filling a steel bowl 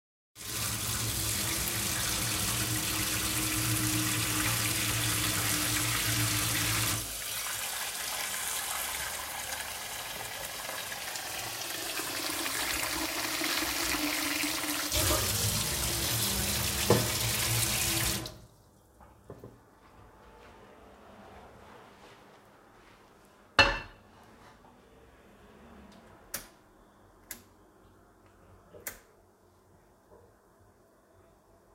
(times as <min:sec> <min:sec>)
0:00.4 0:18.4